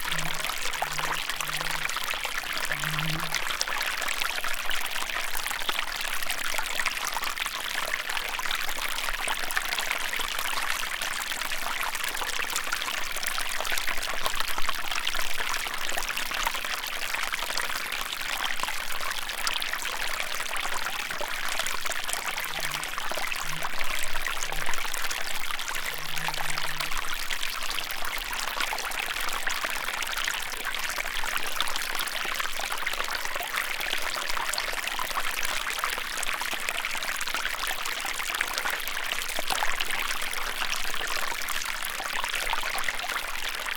0.0s small streams 43.7s

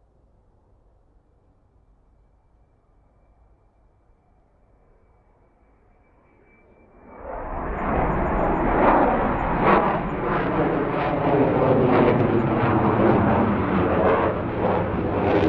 6.3s McDonnell Douglas F/A-18 Hornet 15.4s

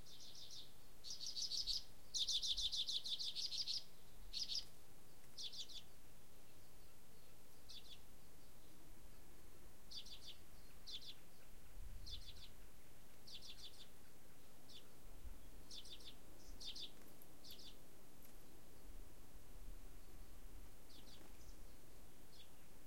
0.0s birds 22.8s
0.0s wind in trees 22.8s

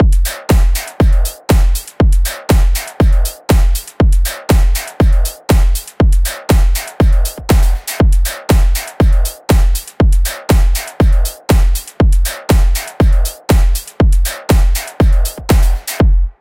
0.0s Hi Hat 16.4s
0.0s Kick 16.4s
0.3s Snare 5.8s
10.5s Snare 16.0s

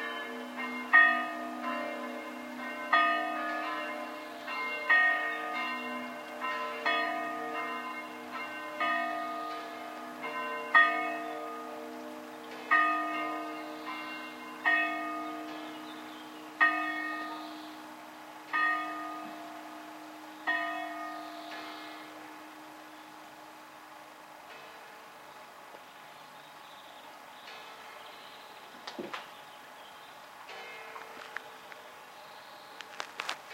0.0s church bell 25.5s
27.4s church bell 28.6s
30.5s church bell 32.1s

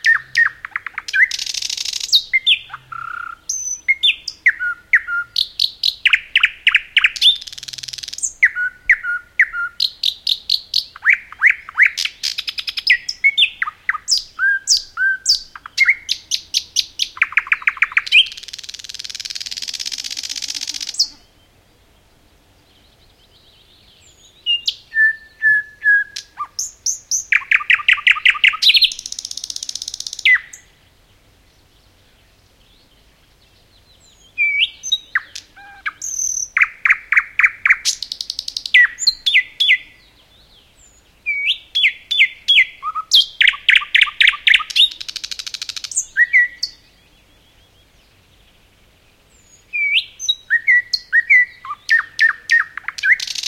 0.0s thrush nightingale singing 53.4s

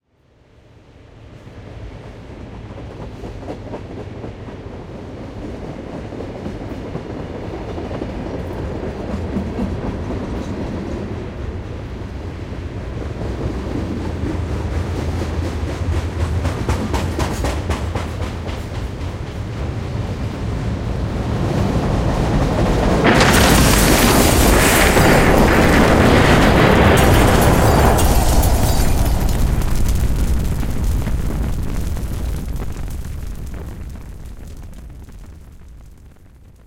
22.6s Train destruction 35.0s

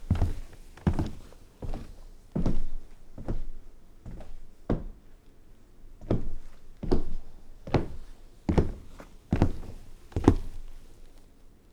0.0s Work boots on wood floor 5.0s

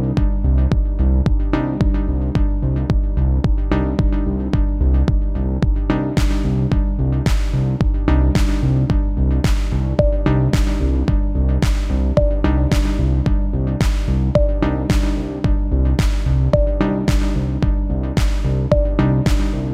0.0s bass 19.7s
0.0s beat 19.7s
0.0s synth 19.7s
9.4s pad 19.7s

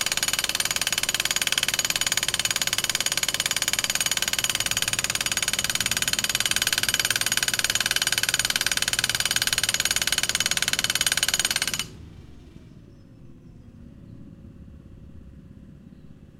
0.0s hydraulic jackhammer 12.6s

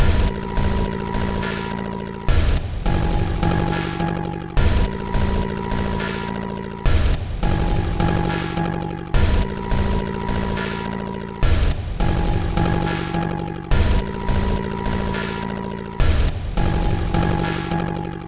0.0s Drum Loop 6.3s
6.9s Drum Loop 10.8s
11.4s Drum Loop 15.4s

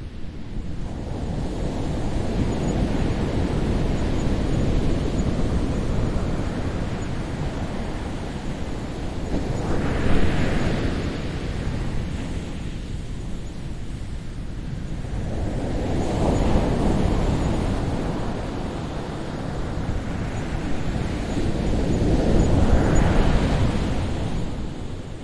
0.0s wind 25.2s

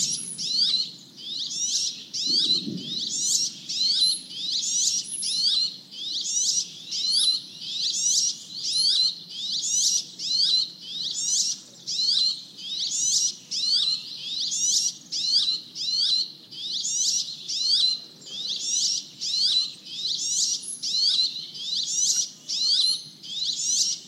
0.0s insects 24.0s
0.0s lots of birds 24.0s

